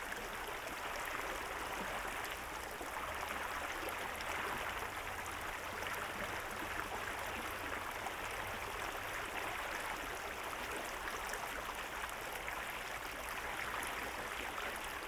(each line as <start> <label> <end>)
0.0 spring river flow 15.0